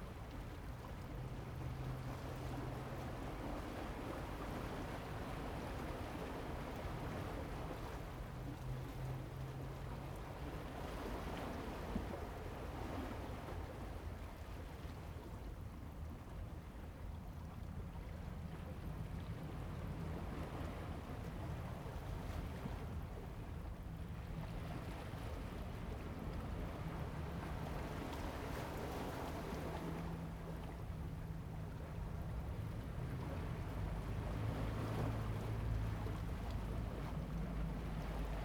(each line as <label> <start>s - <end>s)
waves 0.0s - 38.4s